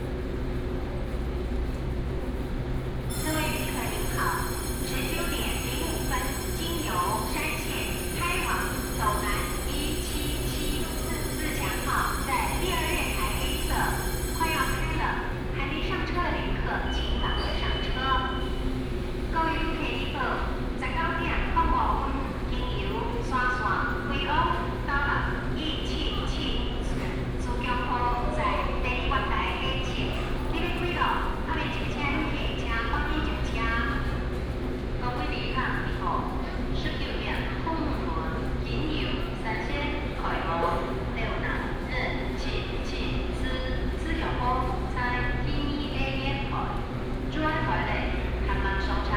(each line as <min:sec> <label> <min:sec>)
0:03.1 Station information broadcast 0:18.6